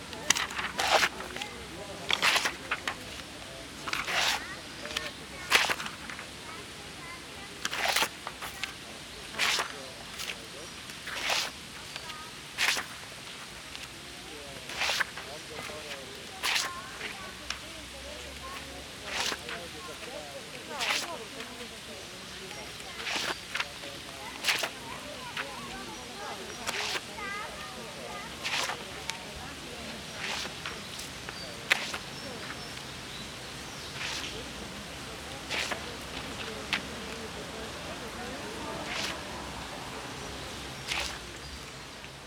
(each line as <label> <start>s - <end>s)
posing white sheets of paper 0.2s - 6.3s
posing white sheets of paper 7.6s - 13.9s
posing white sheets of paper 14.6s - 17.6s
posing white sheets of paper 18.4s - 20.1s
posing white sheets of paper 20.7s - 21.5s
posing white sheets of paper 22.4s - 29.2s
posing white sheets of paper 30.1s - 32.8s
posing white sheets of paper 33.9s - 34.5s
posing white sheets of paper 35.4s - 37.2s
posing white sheets of paper 38.6s - 39.4s
posing white sheets of paper 40.8s - 41.2s